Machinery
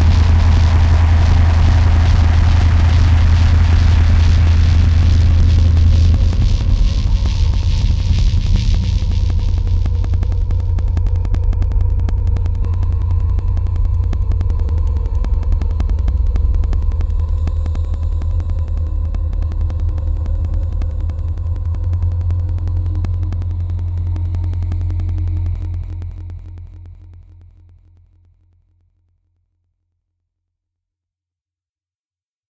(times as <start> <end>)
0.0 17.7